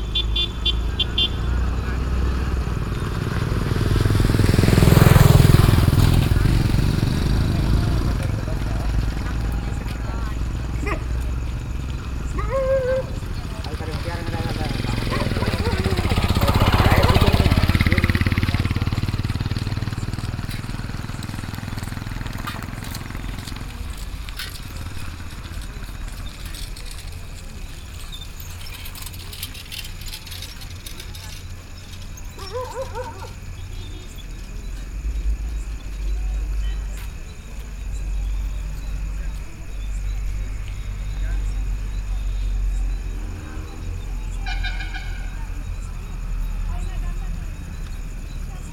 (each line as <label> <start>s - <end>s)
Walk 19.3s - 33.4s
Walk 35.7s - 38.7s